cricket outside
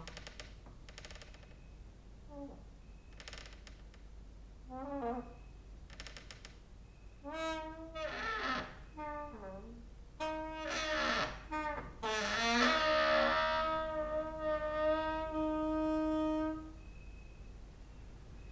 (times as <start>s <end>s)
5.2s 7.3s, 16.6s 18.5s